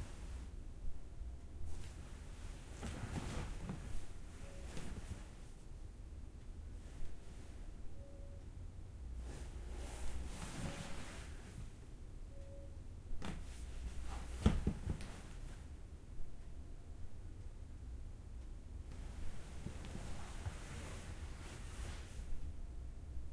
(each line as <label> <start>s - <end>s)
couch rustle 1.7s - 5.5s
couch rustle 9.2s - 11.8s
couch rustle 13.2s - 15.7s
couch rustle 18.9s - 22.4s